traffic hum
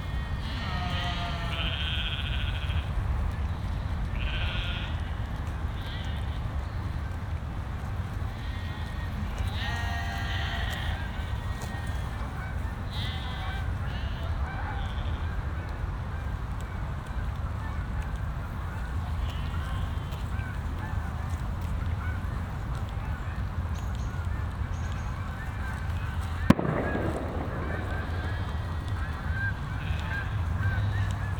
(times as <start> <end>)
26.4 31.3